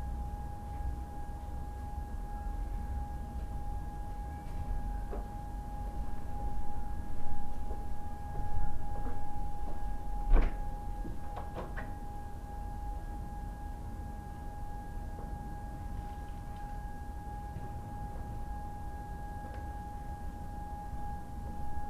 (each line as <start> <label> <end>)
10.8 sirens 21.8